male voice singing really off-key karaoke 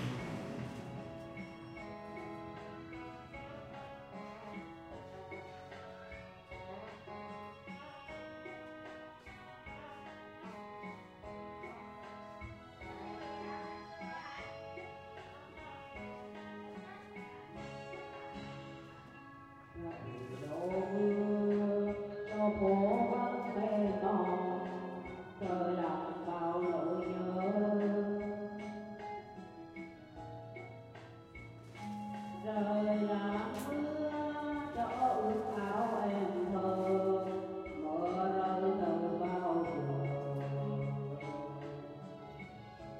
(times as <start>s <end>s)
19.7s 29.2s, 31.8s 42.9s